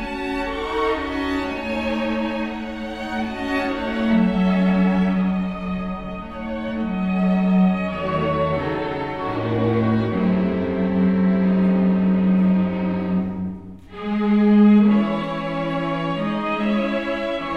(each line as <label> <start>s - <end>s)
string quartet 0.0s - 17.5s